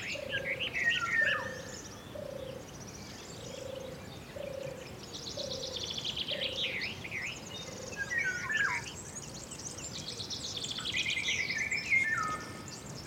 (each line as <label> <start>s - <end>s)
few chicken in background 0.0s - 6.8s
light wind in the trees 0.0s - 13.0s
others birds around 0.0s - 13.0s